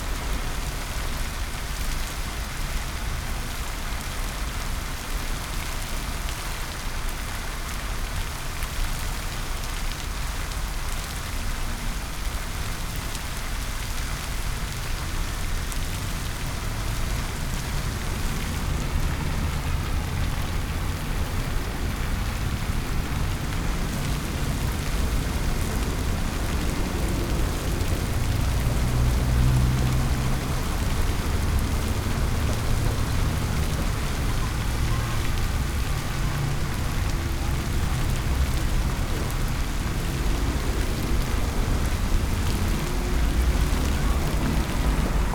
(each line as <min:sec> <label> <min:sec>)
0:00.0 cars and buses 0:45.3
0:00.0 fountain 0:45.3
0:13.9 people passing by 0:45.3